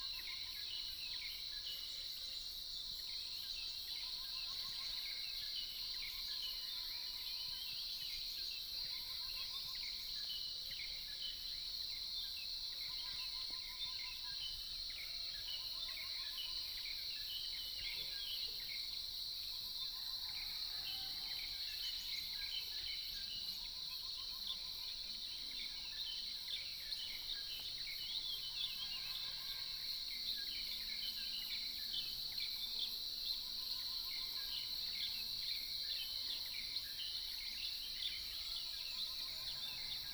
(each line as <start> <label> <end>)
8.3 Insects sounds 40.1